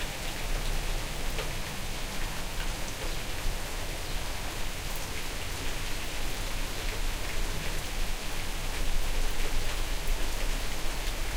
Medium rain on grass and tiles 0:00.0 - 0:11.3

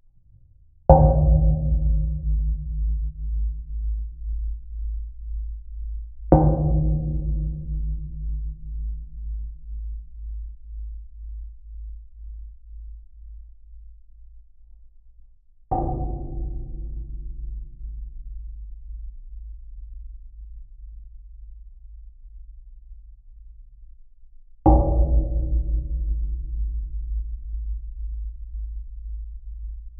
Strikes on a metal railing 0:15.7 - 0:18.0
Strikes on a metal railing 0:24.7 - 0:26.2

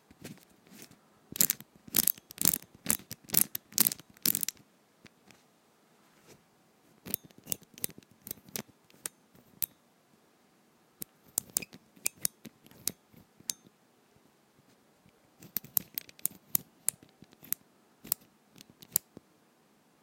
lock tumblers 0:01.4 - 0:04.6

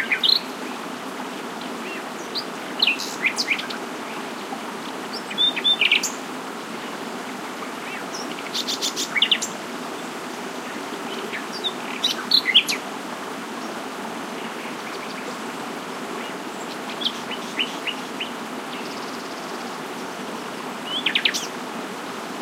stream babbling 0:00.0 - 0:22.4
wind 0:00.0 - 0:22.4
Nightingale singing 0:05.1 - 0:06.2
Nightingale singing 0:11.1 - 0:12.8
Nightingale singing 0:20.8 - 0:21.5

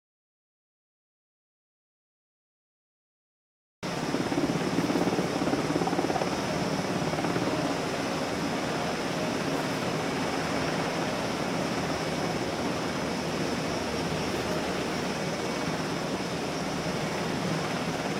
Helicopter 0:03.8 - 0:18.1

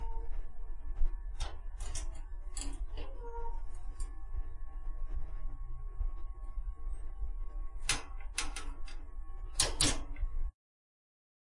Steel Cage Opening 0:01.4 - 0:04.1
Steel Cage Opening 0:07.8 - 0:10.2

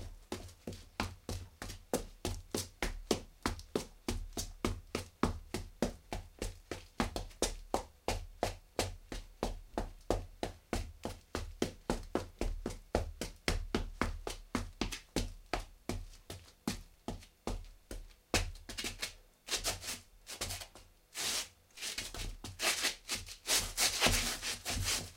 Footsteps 0:18.8 - 0:25.1

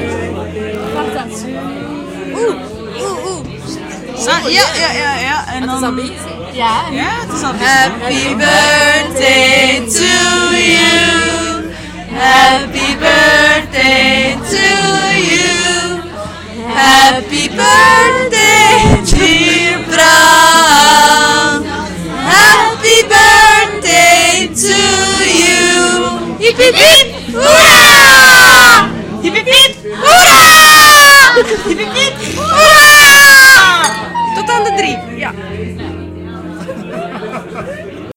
birthday chant 0:07.2 - 0:36.0

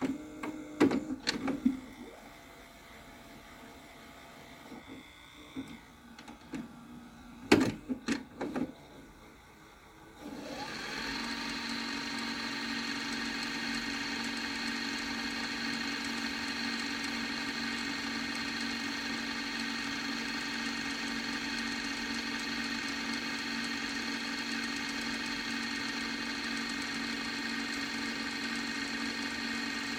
VHS tape ejecting 0:00.0 - 0:02.2
VCR automatically rewinds a vhs tape from fast to slow 0:00.0 - 0:29.9

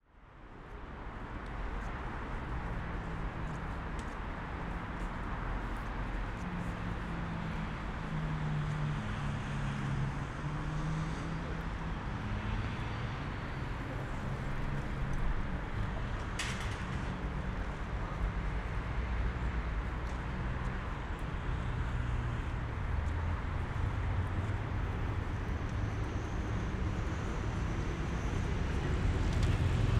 noise of traffic 0:00.0 - 0:29.9

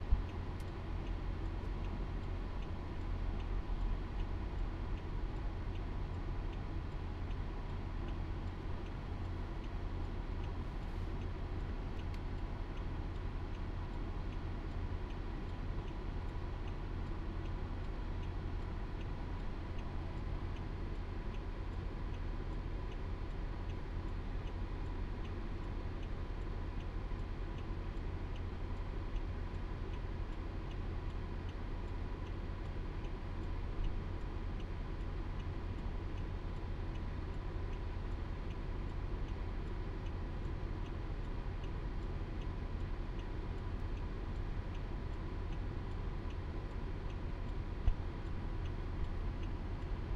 turn signal 0:00.0 - 0:50.1

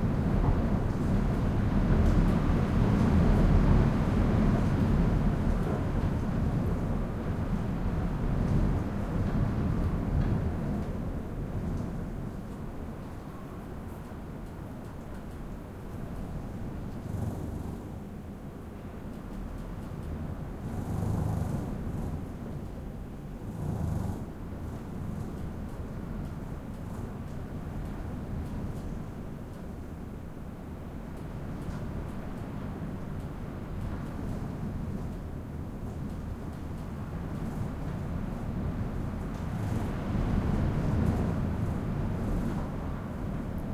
heavy wind battering hotel room 0:00.0 - 0:43.7

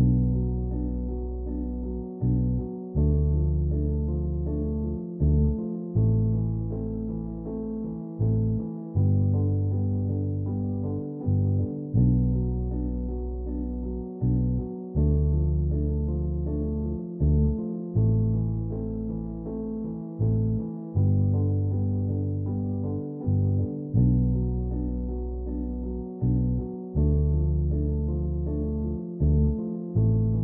bass 0:00.0 - 0:30.4
piano 0:00.0 - 0:30.4

